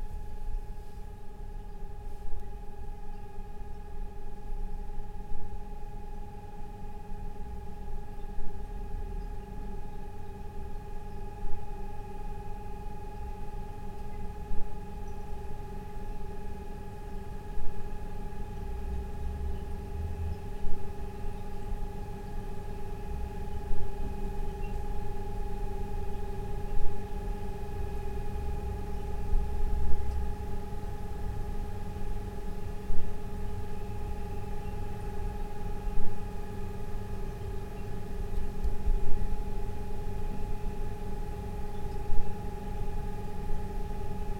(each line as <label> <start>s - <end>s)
crackling of gas stove 20.4s - 44.3s